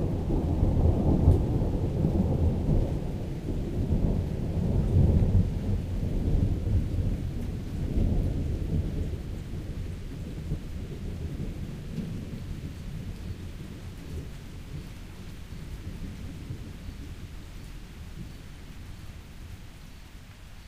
0.0s thunder and lightning that crackles, booms and rumbles 19.6s

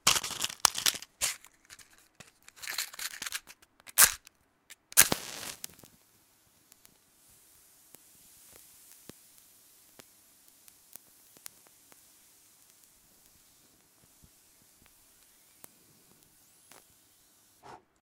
0.0s Matchbox Lighting Match Stick 17.6s
0.1s Opening of a small matchbox 6.0s
0.1s flame and burning wood and escaping gases on the match 17.7s

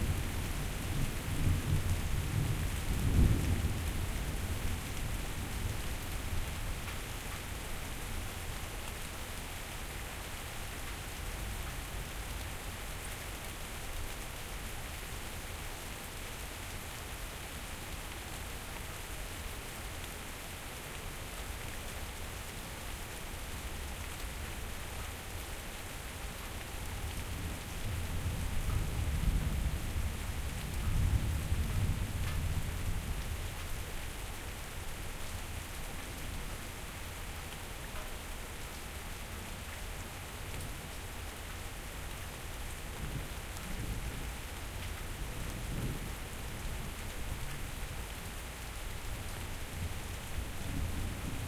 0.0s light rain 51.4s

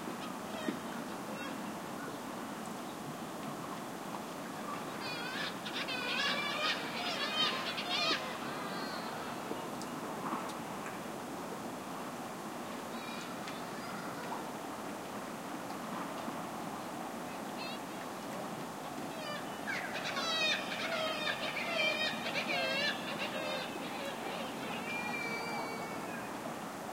0.0s ocean 26.9s
5.0s seagull screeching calls 9.1s
19.2s seagull screeching calls 26.4s

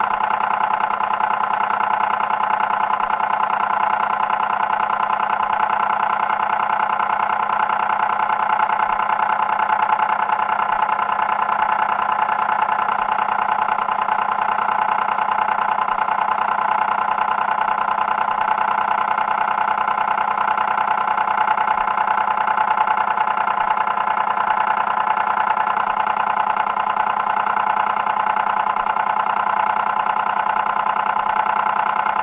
0.0s analogue timed switch running 32.2s

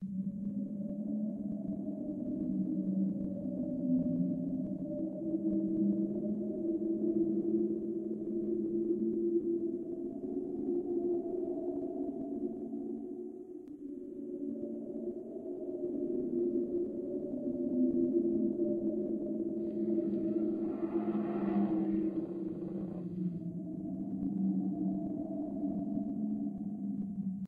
19.5s Sighing wind 23.9s
19.6s distant growl from zombie or bear 23.4s

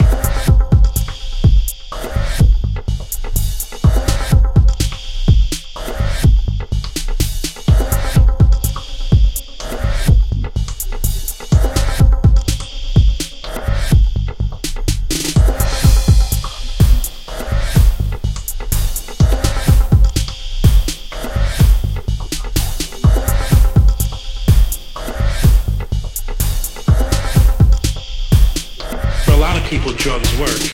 15.2s Glitch loop with sample 26.1s
27.1s Glitch loop with sample 30.7s

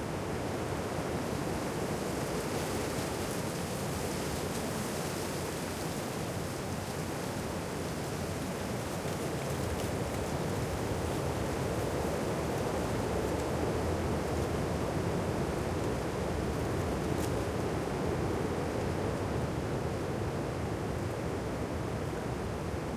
1.5s leaf rustle 18.0s

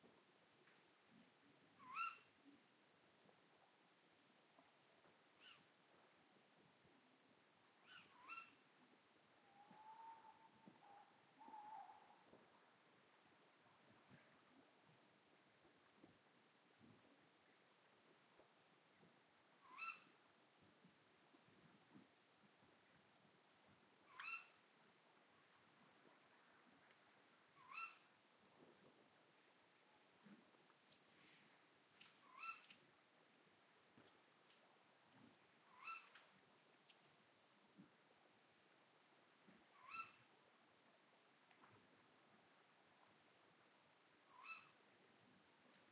1.8s male and female Tawny owls 2.3s
5.4s male and female Tawny owls 5.6s
7.8s male and female Tawny owls 8.6s
9.4s male and female Tawny owls 12.3s
19.6s male and female Tawny owls 20.1s
24.1s male and female Tawny owls 24.6s
27.6s male and female Tawny owls 28.1s
32.2s male and female Tawny owls 32.8s
35.7s male and female Tawny owls 36.2s
39.8s male and female Tawny owls 40.3s
44.3s male and female Tawny owls 44.8s

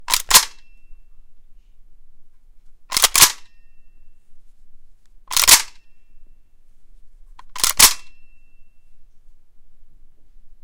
0.0s reload 0.8s
2.9s reload 3.6s
5.3s reload 5.9s
7.4s reload 8.4s

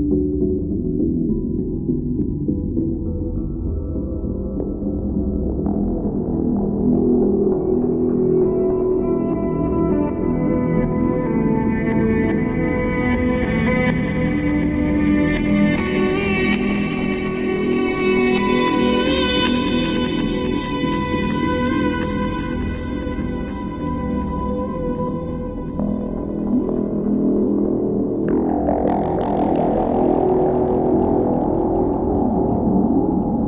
0.0s guitar 33.4s

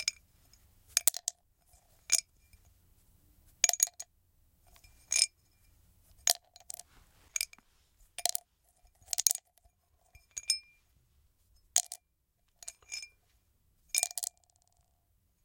11.8s drop the pill several times 13.2s
14.0s drop the pill several times 14.9s

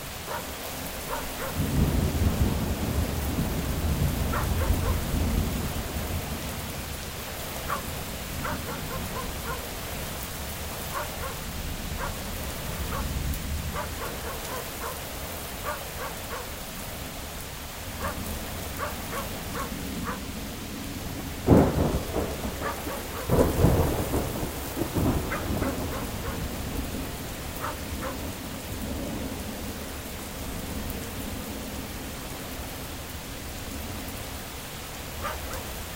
0.0s rain 35.9s
0.0s wind 35.9s
0.2s dog 1.6s
1.6s thunder 7.0s
4.3s dog 5.1s
7.6s dog 9.7s
10.8s dog 16.6s
18.0s dog 18.2s
18.8s dog 20.3s
21.4s thunder 28.1s
22.6s dog 23.3s
25.3s dog 26.5s
27.6s dog 28.2s
35.2s dog 35.8s

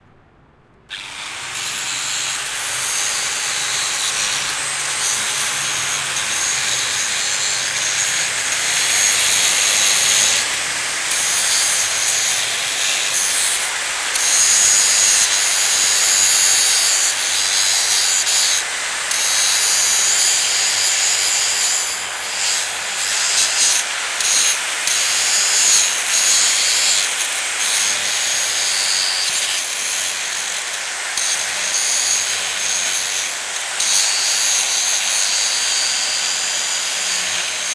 0.9s angle grinder 37.7s

